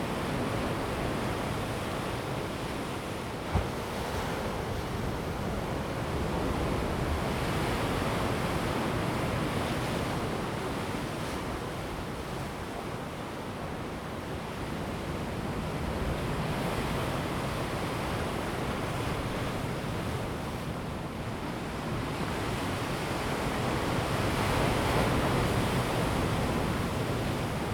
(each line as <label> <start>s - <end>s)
wind 0.0s - 27.7s
the sea washes the shore 0.2s - 27.7s